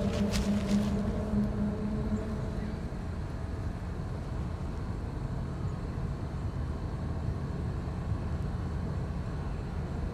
foghorn or siren in the distance 0:00.0 - 0:04.2
crickets 0:00.0 - 0:10.1

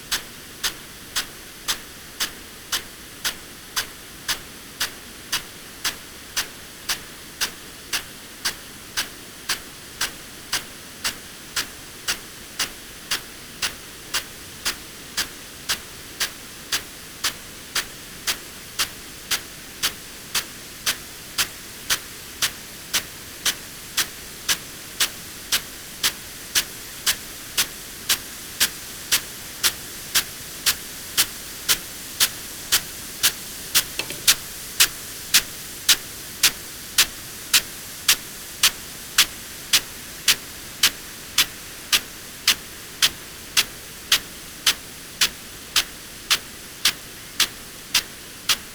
field irrigation system 0:27.0 - 0:48.6

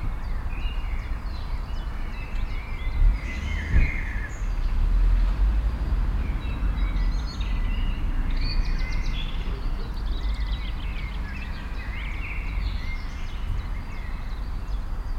birds 0:00.0 - 0:15.1
cars 0:00.0 - 0:15.1
motorcycle 0:02.4 - 0:14.8

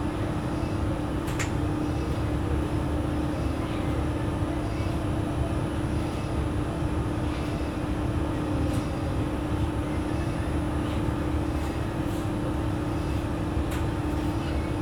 hum of commercial washing machines 0:00.0 - 0:14.8

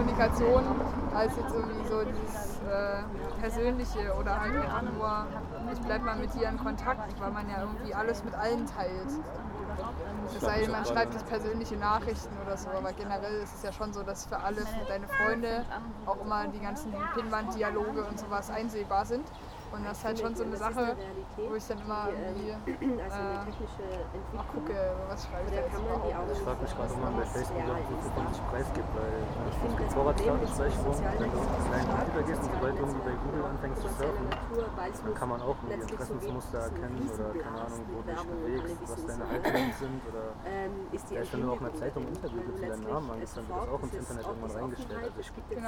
street ambience 0:00.0 - 0:45.6
talk 0:00.0 - 0:45.6

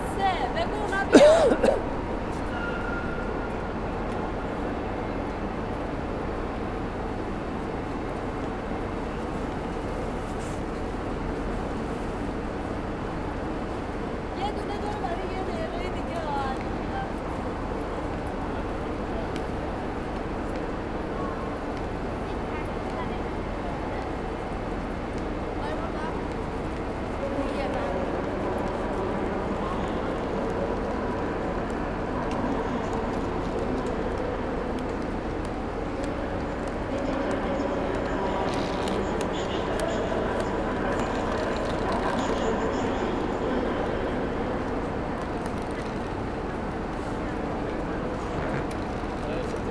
different voices are audible in different languages 0:00.0 - 0:01.8
different voices are audible in different languages 0:14.2 - 0:20.0

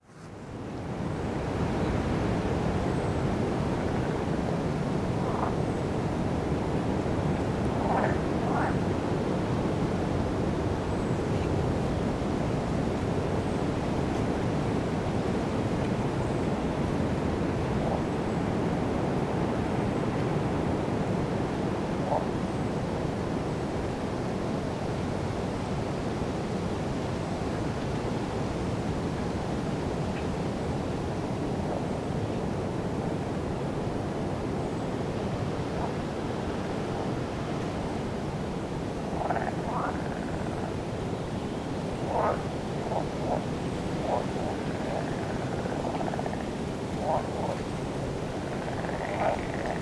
Toads call 0:48.4 - 0:49.8

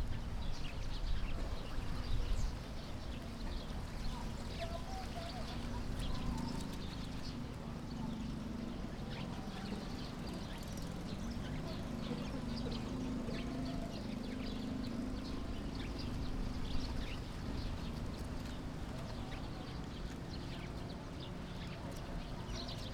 Birds singing 0:00.0 - 0:22.9

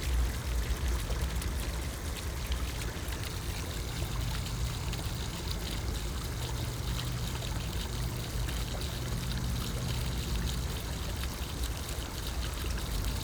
Trickling fountain 0:00.0 - 0:13.2
gurgling drain 0:00.0 - 0:13.2

